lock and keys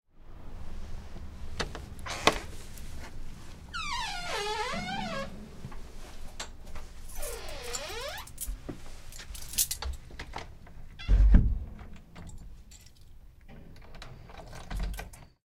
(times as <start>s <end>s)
7.1s 8.6s, 9.2s 10.1s, 12.0s 15.4s